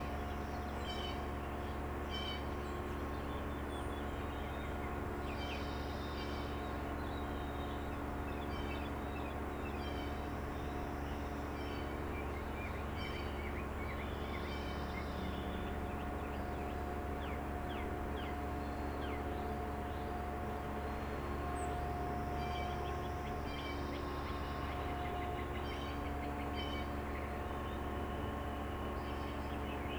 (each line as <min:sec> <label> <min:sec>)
0:00.0 outdoor machinery 0:29.9